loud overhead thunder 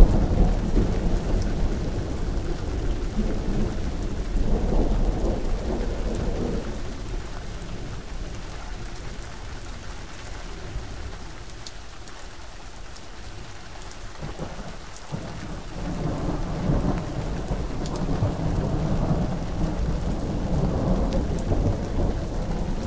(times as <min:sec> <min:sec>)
0:00.0 0:08.0, 0:14.2 0:22.8